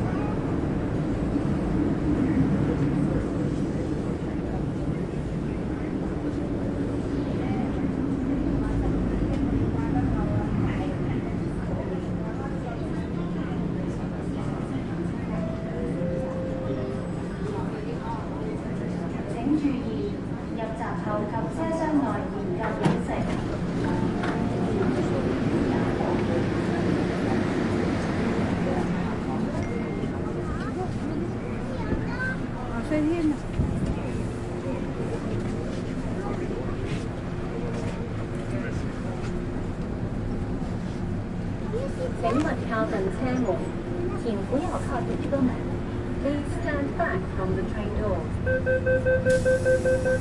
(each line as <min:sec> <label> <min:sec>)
0:00.0 Ride MTR (train) 0:50.2
0:02.0 people talking 0:39.7
0:13.6 announcements 0:18.9
0:40.8 people talking 0:50.2
0:42.3 announcements 0:50.2